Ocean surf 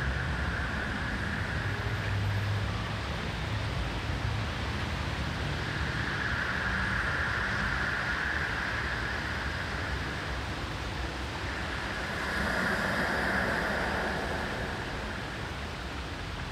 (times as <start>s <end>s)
5.2s 16.5s